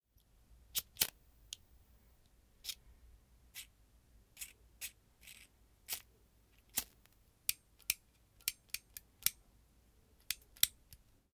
Playing around with cigarette lighter 6.7 - 9.4

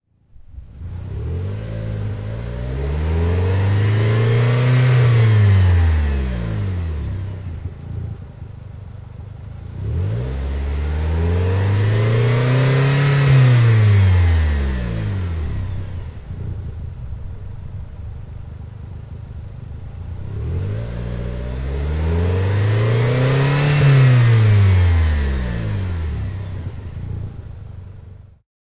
Renault Duster drive from 1000rpm to max 0.1 - 28.4

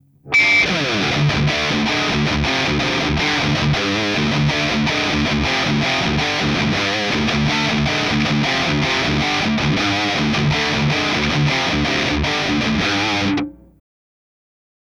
Heavy Metal style riffs 0.2 - 13.8

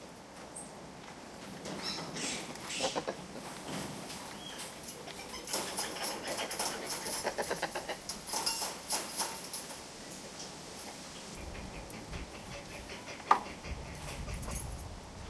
spider monkey chatter 1.9 - 3.2
spider monkey chatter 4.9 - 8.3
spider monkey chatter 10.8 - 14.8

